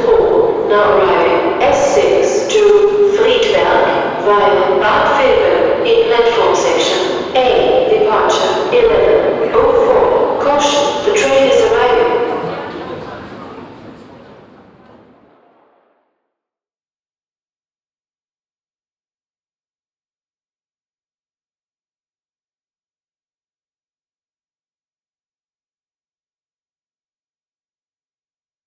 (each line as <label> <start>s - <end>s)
tunnel reverbing atmosphere 0.0s - 16.2s